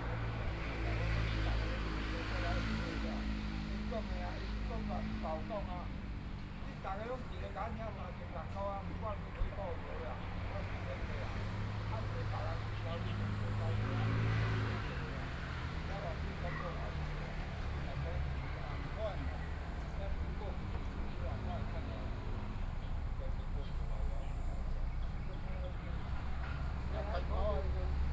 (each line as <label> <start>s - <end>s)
Traffic Sound 0.0s - 28.1s
Birdsong 8.4s - 28.1s